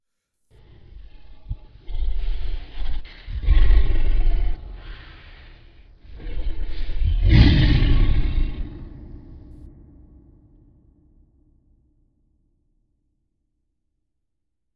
monster roar 0.6 - 9.7

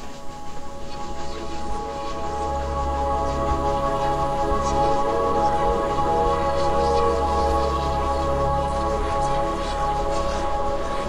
Ambient music 0.0 - 11.0
Whispering souls 0.0 - 11.0

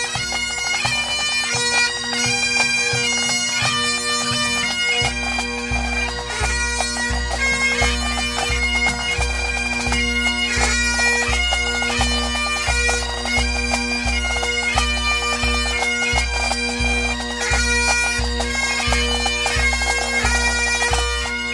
bagpipes street band4 0.0 - 21.5

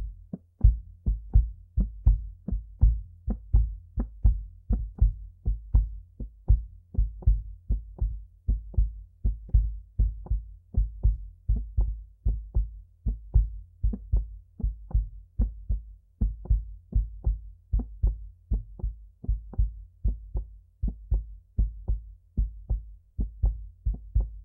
heartbeat 0.0 - 24.4

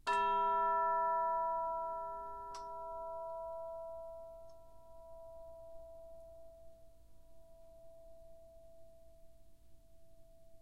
Orchestral Chimes/Tubular Bells 0.1 - 6.6

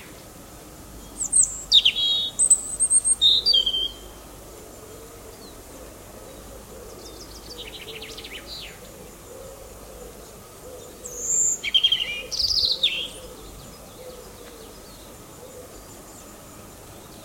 European robin 0.0 - 17.2

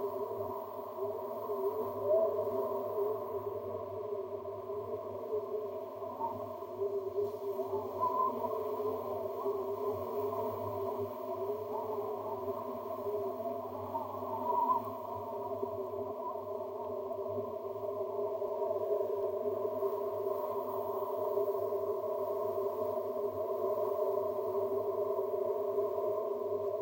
Winter Wind 0.0 - 26.8

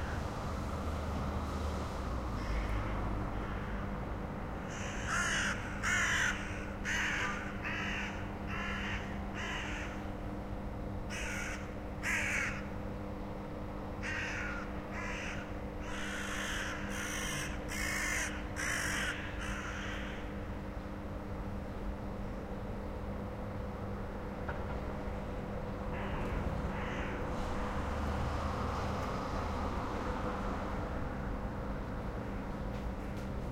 Flock of crows fly & croak around a house 2.4 - 3.8
Flock of crows fly & croak around a house 4.6 - 10.0
Flock of crows fly & croak around a house 11.1 - 12.7
Flock of crows fly & croak around a house 14.0 - 20.4
Flock of crows fly & croak around a house 25.9 - 27.7

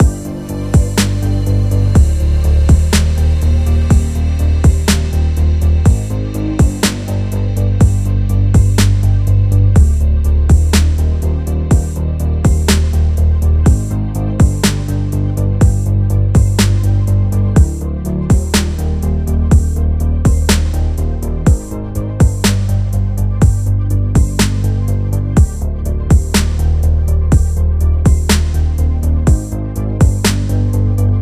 Cyberpunk Beat 0.0 - 31.2

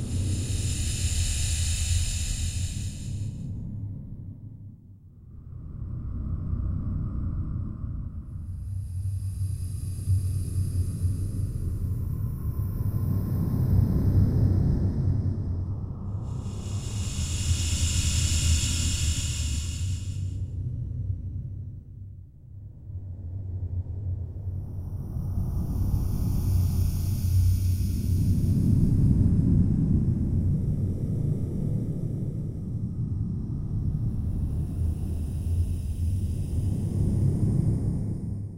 white noise 0.0 - 3.4
white noise 16.2 - 20.4
white noise 25.4 - 29.2
white noise 33.6 - 37.8

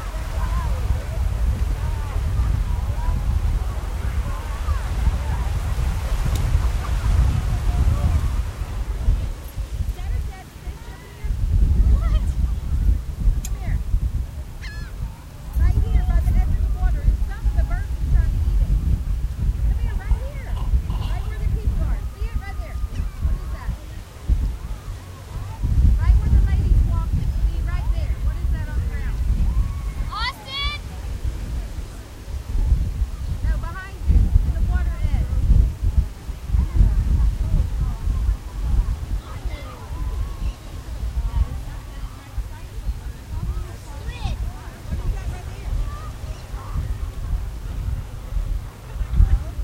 Beach goers 0.0 - 49.6
surf 0.0 - 49.6
gulls 14.6 - 15.0

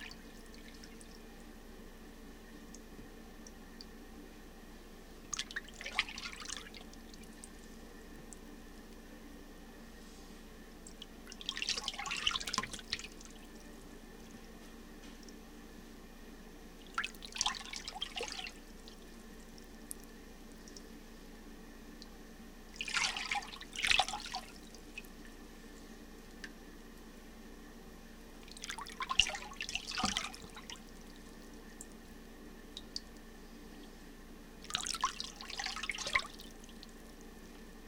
paddling sound done in a plastic utility sink 10.9 - 13.4
paddling sound done in a plastic utility sink 28.5 - 30.9

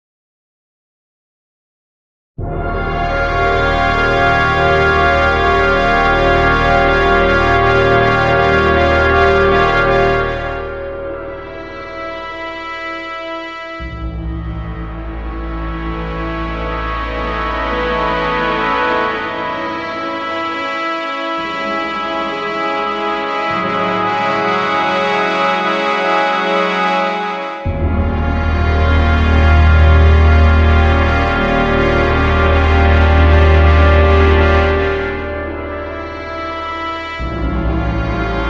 Synth Pad 2.4 - 38.4

